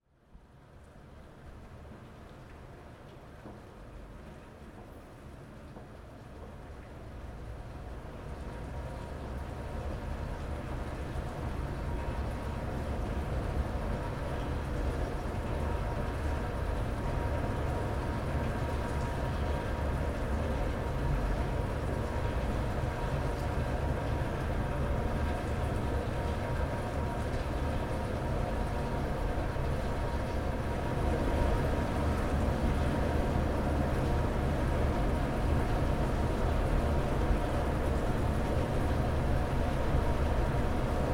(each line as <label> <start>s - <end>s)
Rain 0.4s - 41.1s